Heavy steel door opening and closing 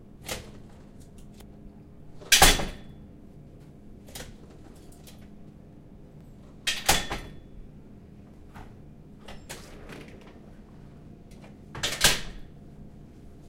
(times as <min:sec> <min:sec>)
0:02.1 0:02.9, 0:09.2 0:10.8, 0:11.5 0:12.6